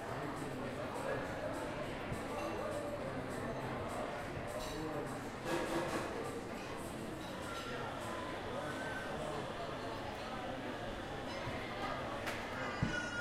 hustle and bustle of the restaurants 0.0 - 13.2
people 0.0 - 13.2

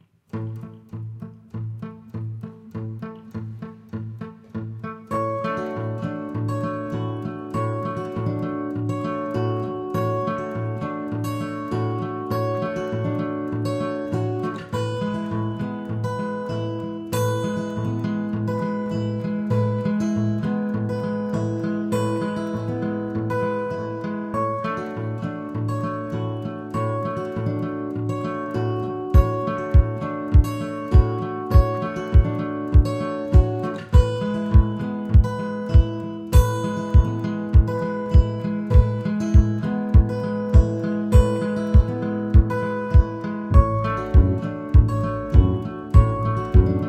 Electric-guitar 0.0 - 46.8
acoustic-guitar 0.0 - 46.8
kick 41.8 - 46.8
Double bass 43.5 - 46.8

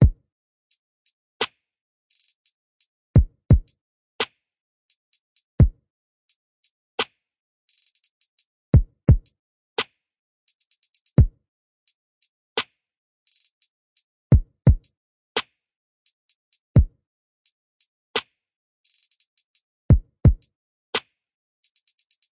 snare 1.4 - 1.6
hi hat 2.1 - 2.9
snare 7.0 - 7.2
hi hat 7.7 - 8.5
snare 9.8 - 10.0
hi hat 10.5 - 11.2
hi hat 13.3 - 13.7
snare 18.2 - 18.4
hi hat 18.8 - 19.6
snare 21.0 - 21.2
hi hat 21.6 - 22.3

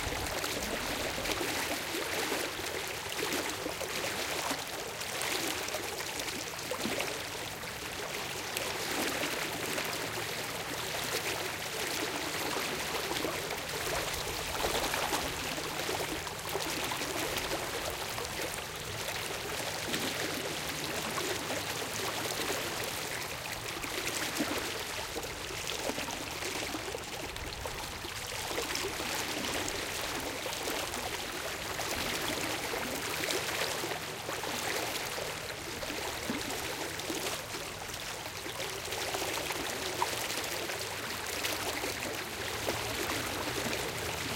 medium paced shallow river 0.0 - 44.3

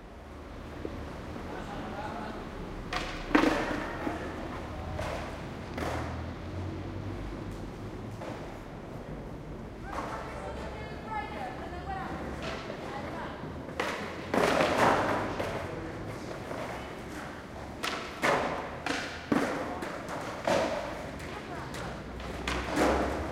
traffic noise 0.0 - 23.3
wheels rumbling 0.0 - 23.3

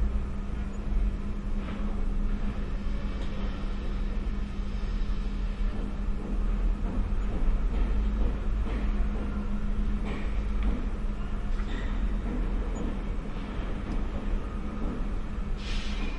construction 0.0 - 16.1

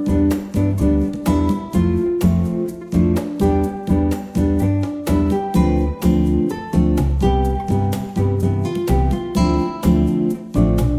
Bongos 0.0 - 10.9
Guitar 0.0 - 10.9
Shaker 0.0 - 10.9
Upright Bass 0.0 - 10.9

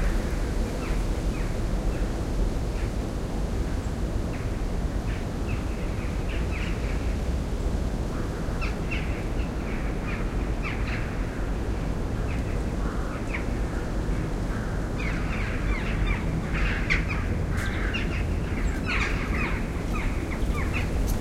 wind 0.0 - 21.2
crows 14.5 - 20.9

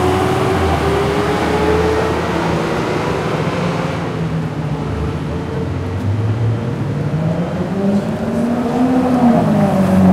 Traffic 0.0 - 10.1

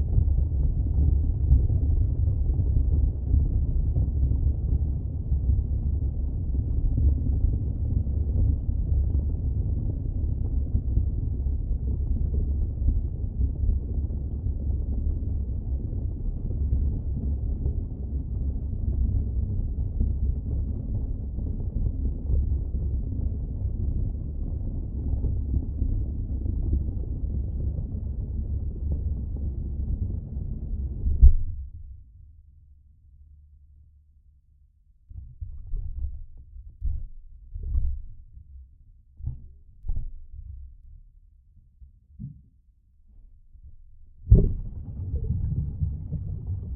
splash 44.3 - 46.7

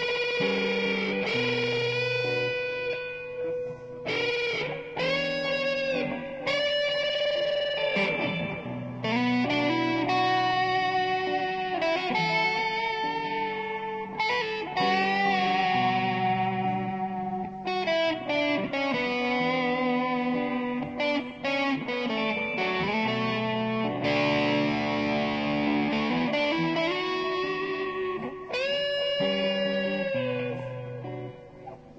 electric guitar 0.0 - 31.9

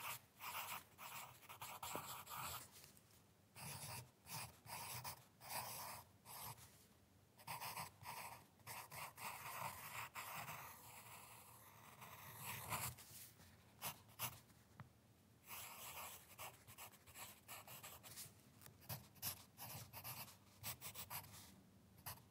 Writing on paper using a lead pencil 0.0 - 2.9
Writing on paper using a lead pencil 3.6 - 6.8
Writing on paper using a lead pencil 7.4 - 14.6
Writing on paper using a lead pencil 15.4 - 22.3

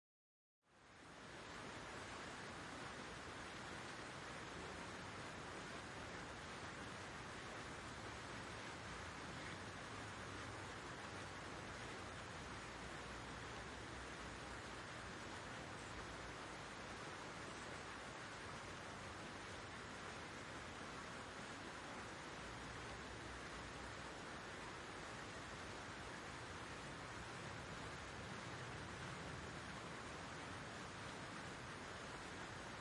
Water Fountains 0.7 - 32.8

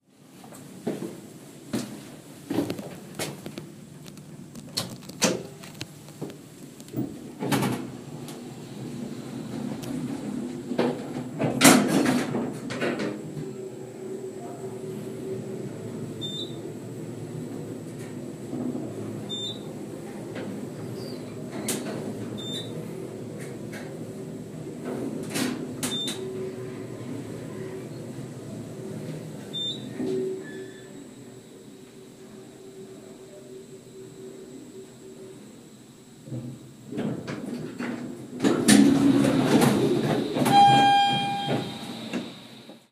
elderly lift in use 36.3 - 42.8
doors 36.3 - 42.8

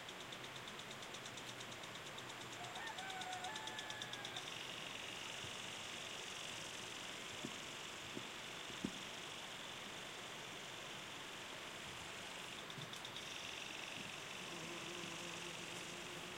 home lawn sprinkler 0.0 - 16.3
Rooster crowings 2.5 - 4.6

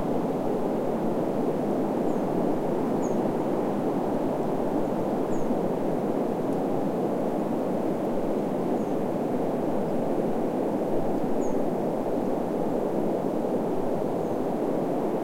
wind 0.0 - 15.2
birds 3.0 - 3.2
birds 5.3 - 5.6

